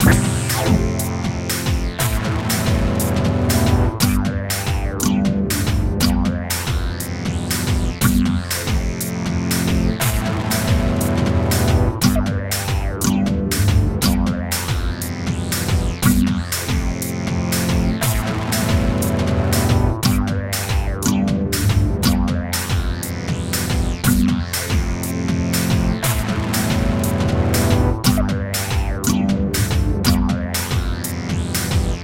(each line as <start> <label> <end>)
0.0 Strange Theme 4.0